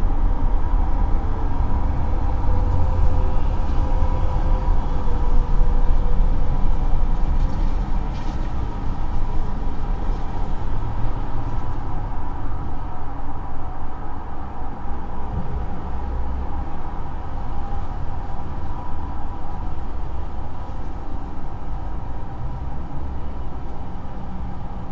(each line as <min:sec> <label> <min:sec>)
0:00.0 big metallic sculpture drone 0:24.9